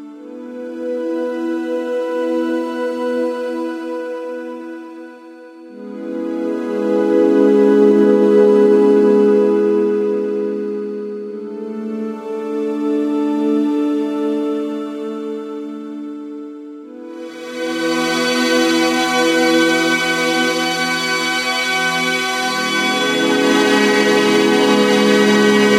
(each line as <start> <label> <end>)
16.9 quiet strings and loud ones 25.7
17.1 choirs 25.7